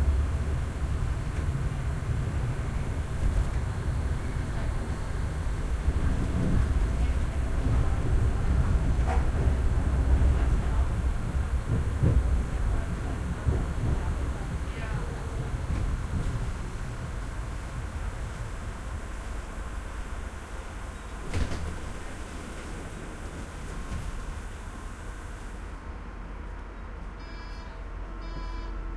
almost empty tram 0:00.0 - 0:28.9
public address 0:06.0 - 0:16.2

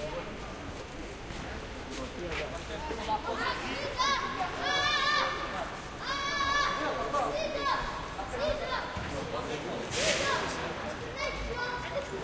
kids playing soccer 0:02.3 - 0:12.2

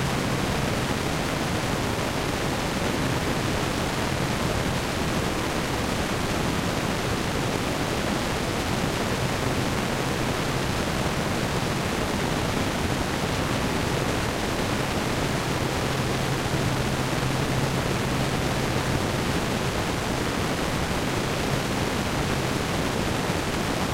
rain noise 0:00.0 - 0:23.9

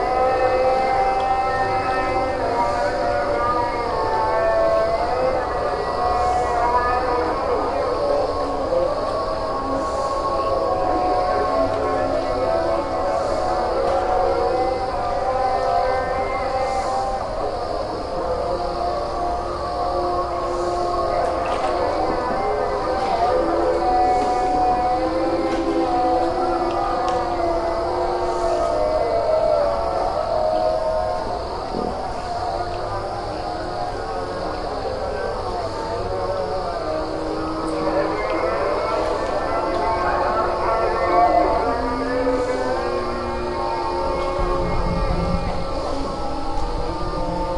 call to prayer 0:00.0 - 0:47.5
insects 0:00.0 - 0:47.5

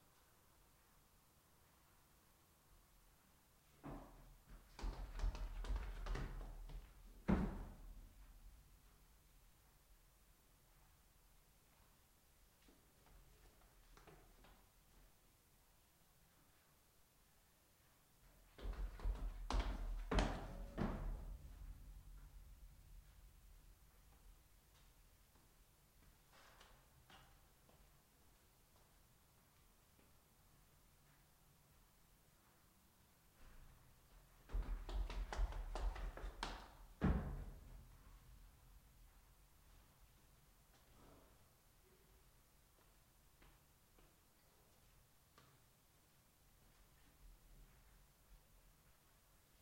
running down carpet stair case 0:03.8 - 0:08.4
running down carpet stair case 0:18.2 - 0:23.2
running down carpet stair case 0:33.4 - 0:38.2

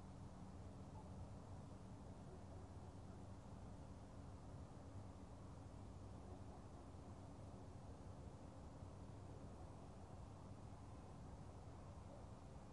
Distant dogs 0:06.2 - 0:07.2

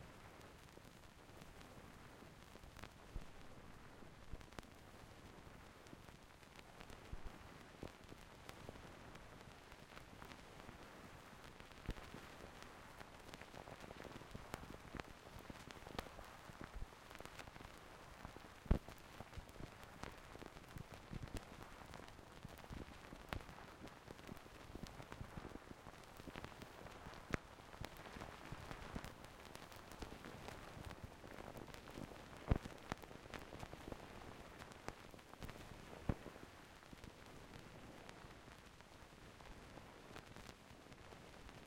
unpressed side of a single-sided vinyl record 0:22.4 - 0:37.3

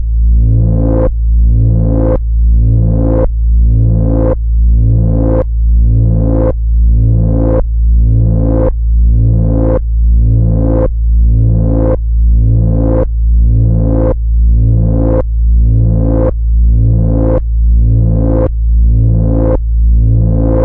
analog wobble 0:00.4 - 0:20.6

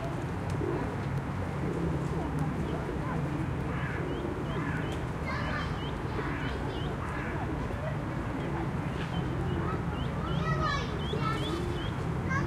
People are walking 0:00.0 - 0:12.4
pigeons 0:00.0 - 0:12.4
traffic 0:00.0 - 0:12.4
crows 0:03.7 - 0:07.5

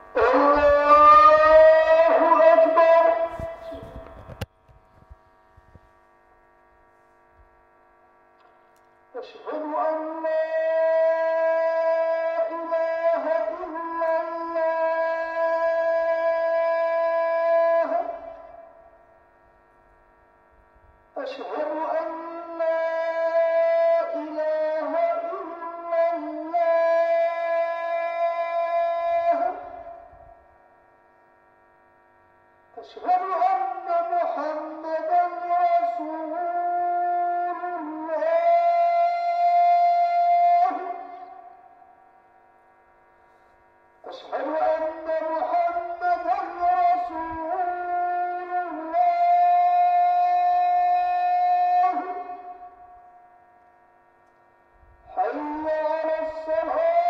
muezzin through speaker 0:00.0 - 0:06.1
muezzin through speaker 0:08.4 - 0:19.2
muezzin through speaker 0:20.7 - 0:30.6
muezzin through speaker 0:32.7 - 0:42.4
muezzin through speaker 0:43.2 - 0:57.0

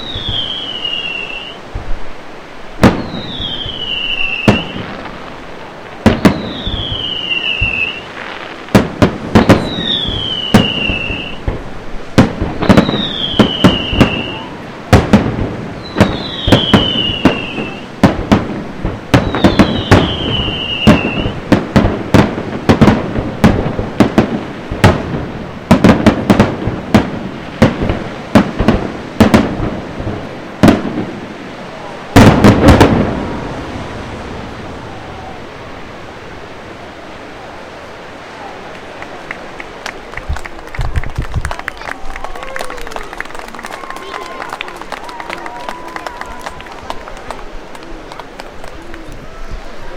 wind noise 0:00.0 - 0:42.9
Waves on the beach 0:00.0 - 0:49.9
firework display 0:00.0 - 0:49.9
crowds 0:02.8 - 0:18.3
crowds 0:19.1 - 0:21.5
crowds 0:30.9 - 0:49.9
Applause 0:38.7 - 0:49.4

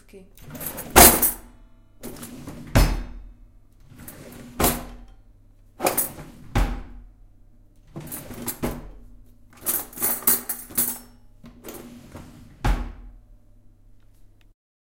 Opening and closing a drawer full of cutlery 0:00.4 - 0:05.2
Opening and closing a drawer full of cutlery 0:05.8 - 0:07.0
Opening and closing a drawer full of cutlery 0:07.8 - 0:13.1

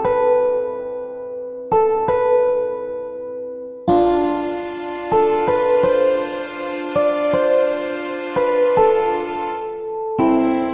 Piano 0:00.0 - 0:10.7
cello 0:03.9 - 0:10.7

